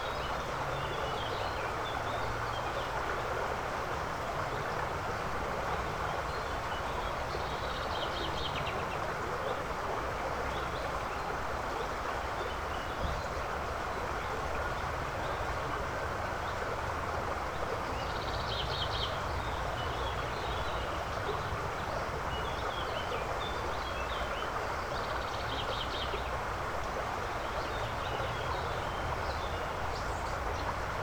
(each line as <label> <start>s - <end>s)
creek 0.0s - 31.0s